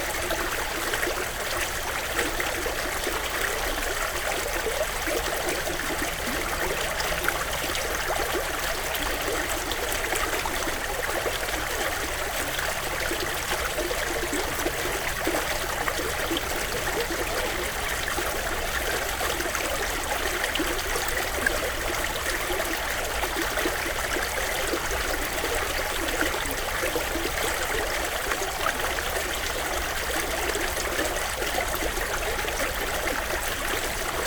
river 0:00.0 - 0:34.2

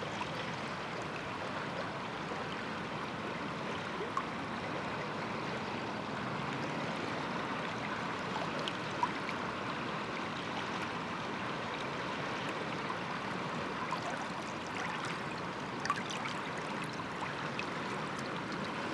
river flux 0:07.7 - 0:18.9

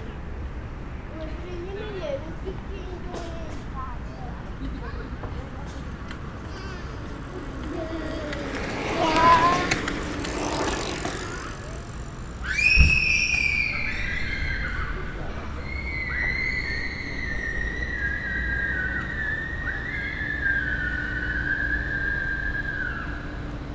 beaucoup de cyclistes de toute sorte 0:00.0 - 0:23.7

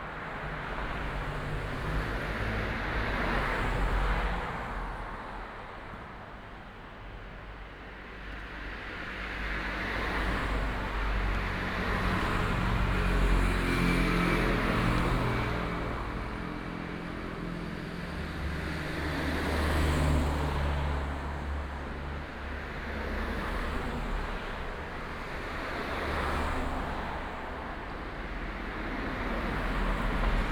Traffic sound 0:00.0 - 0:30.5

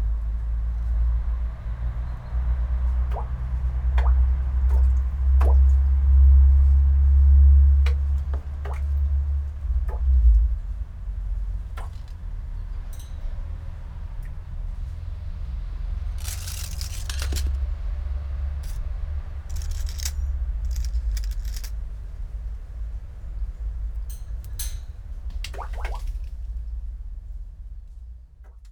small stones and dry leaves falling into forgotten well 0:16.1 - 0:17.8

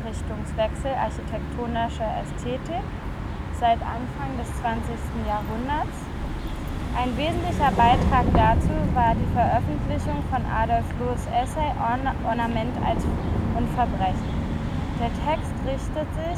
reading group 0:00.0 - 0:16.3

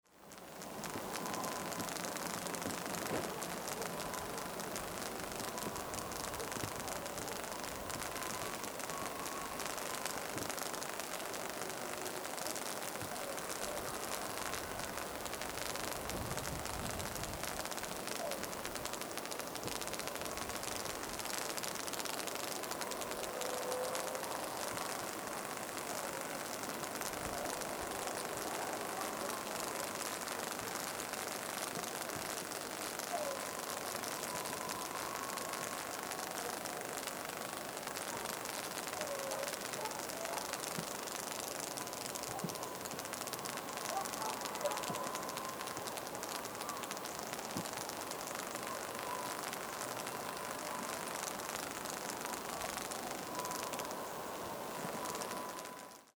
High Voltage Power Line 0:00.1 - 0:56.1

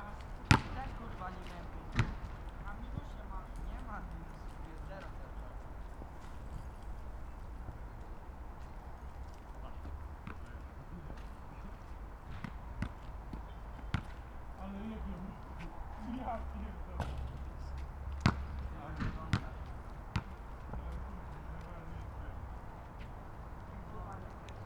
teenagers playing horse at the nearby basketball court 0:00.0 - 0:24.6
basketball bouncing off the tarmac 0:00.4 - 0:03.1
basketball bouncing off the tarmac 0:10.2 - 0:10.6
basketball bouncing off the tarmac 0:12.2 - 0:14.2
basketball bouncing off the tarmac 0:17.0 - 0:17.5
basketball bouncing off the tarmac 0:18.1 - 0:21.0

